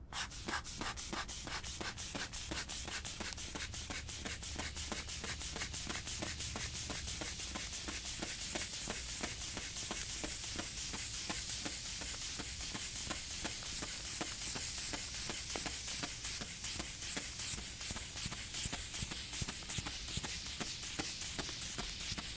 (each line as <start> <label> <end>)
0.0 blood pressure cuff pumping 22.3